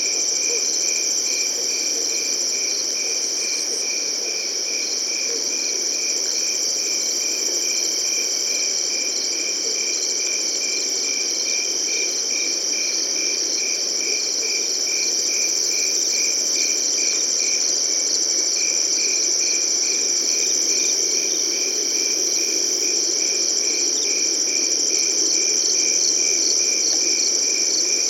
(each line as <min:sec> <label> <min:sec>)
0:00.0 Crickets 0:28.0
0:11.8 grasshoppers 0:28.0